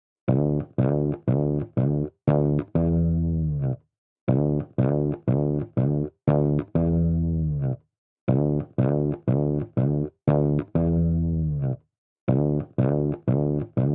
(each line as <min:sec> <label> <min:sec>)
0:00.3 bass 0:13.9